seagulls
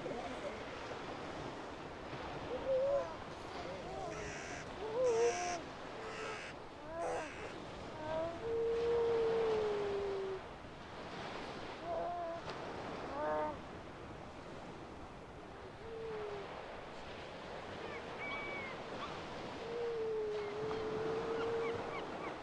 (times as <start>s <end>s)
2.4s 9.8s, 17.8s 22.4s